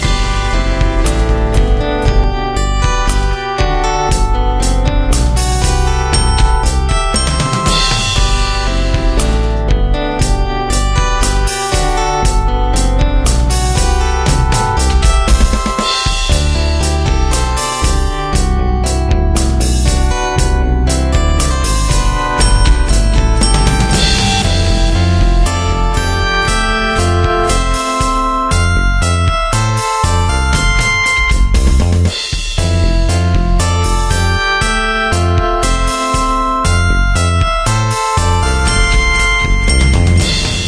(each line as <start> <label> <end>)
0.0 Bass 40.6
0.0 Drums 40.6
11.3 Synth 18.0
21.6 Synth 32.0